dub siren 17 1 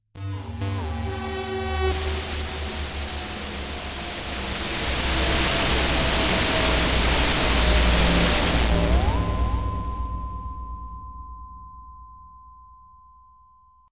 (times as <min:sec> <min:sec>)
0:00.2 0:10.9